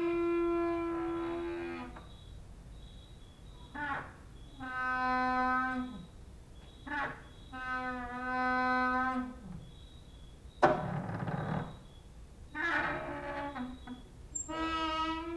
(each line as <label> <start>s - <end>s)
cricket outside 1.1s - 15.3s
creaking with wooden doors 3.5s - 15.3s